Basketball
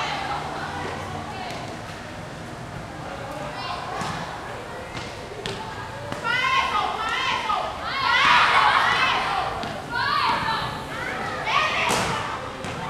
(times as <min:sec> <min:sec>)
0:03.9 0:06.4, 0:11.2 0:12.8